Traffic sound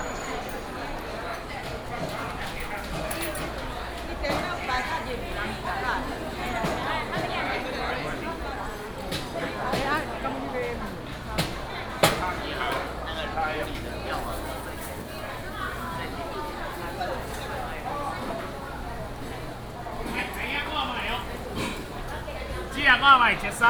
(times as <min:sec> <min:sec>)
0:13.8 0:23.6